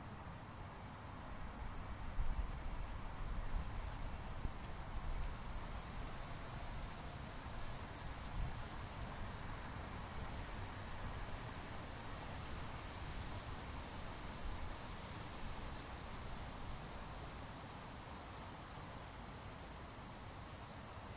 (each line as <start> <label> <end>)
0.0 Wind 21.1
0.0 train 21.1